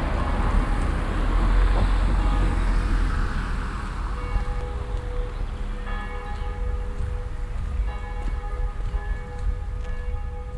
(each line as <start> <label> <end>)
0.0 bells 10.5